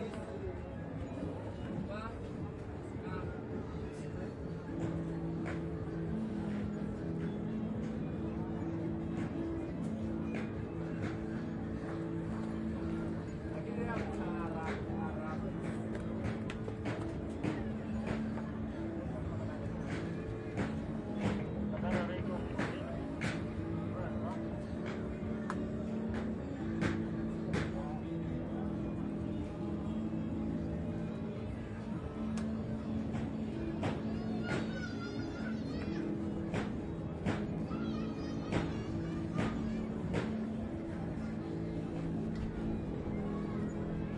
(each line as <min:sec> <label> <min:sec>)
0:08.3 voices 0:44.1